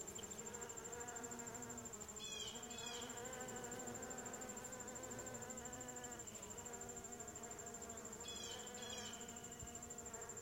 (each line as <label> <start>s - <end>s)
Bees 0.0s - 10.4s
Crickets 0.0s - 10.4s